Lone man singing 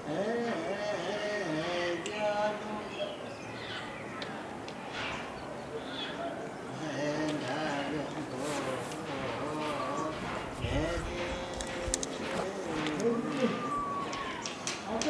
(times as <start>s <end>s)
0.0s 3.6s, 6.6s 15.0s